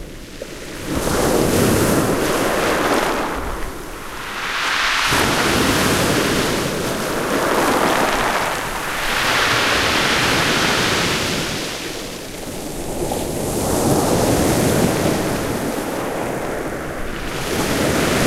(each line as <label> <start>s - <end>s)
Waves on rocky beach 0.5s - 18.2s